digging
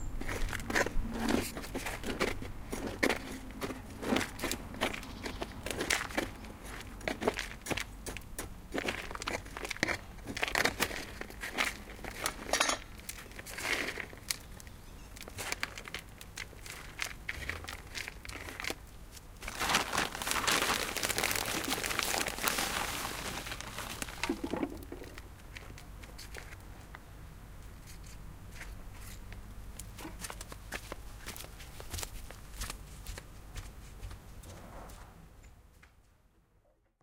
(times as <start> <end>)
0.0 26.6